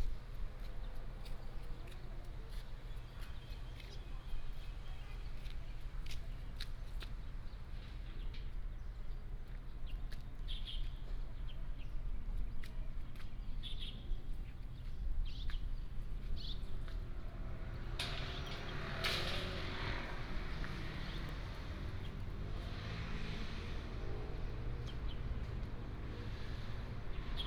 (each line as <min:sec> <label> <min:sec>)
0:00.0 Traffic sound 0:27.4